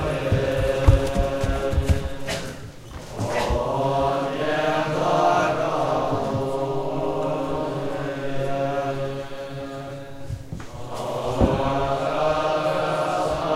monks morning meditation prayer ritual 0:00.0 - 0:13.5

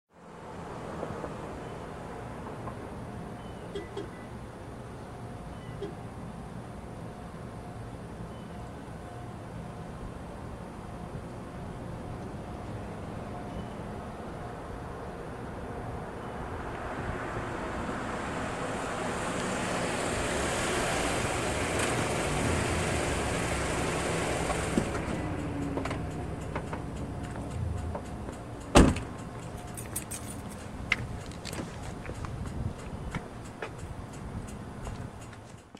Car pulling up 0:16.1 - 0:35.5

